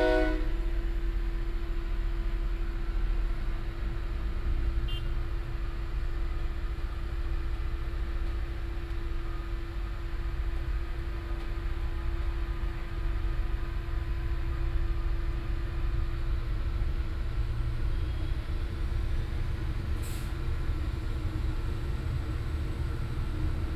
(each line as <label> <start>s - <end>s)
horn blowings 0.0s - 0.6s